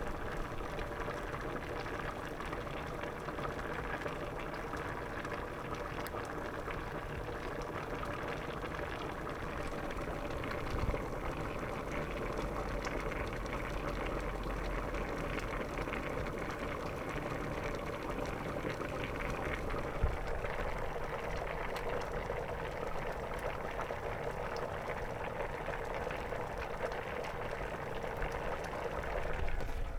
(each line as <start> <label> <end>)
0.0 beans boiling in the stove in a pot 29.9